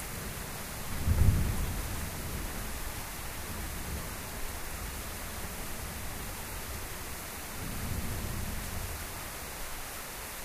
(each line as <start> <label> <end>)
1.0 thunder 2.6